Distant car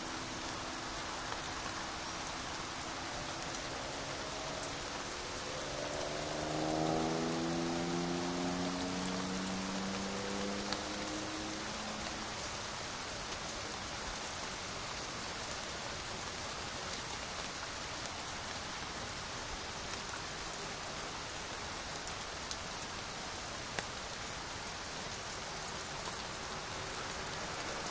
0:02.2 0:12.0

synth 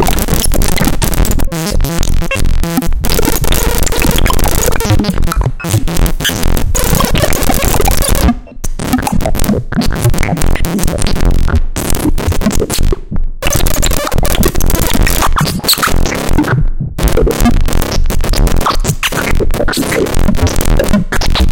0:00.0 0:10.9

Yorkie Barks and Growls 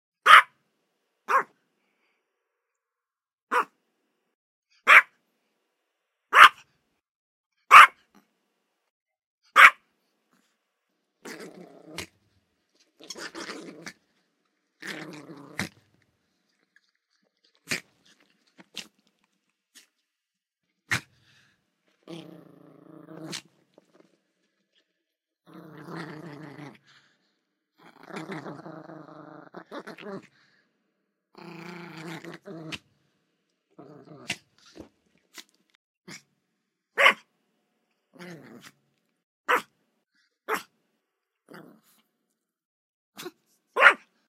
0:00.2 0:00.6, 0:01.3 0:01.6, 0:03.5 0:03.8, 0:04.8 0:05.2, 0:06.3 0:06.7, 0:07.7 0:08.2, 0:09.5 0:09.8, 0:11.2 0:16.0, 0:20.9 0:23.6, 0:25.5 0:27.1, 0:27.8 0:30.4, 0:31.4 0:32.9, 0:33.8 0:35.5, 0:37.0 0:37.3, 0:38.1 0:38.8, 0:39.5 0:39.8, 0:40.5 0:40.7, 0:41.5 0:42.0, 0:43.2 0:44.2

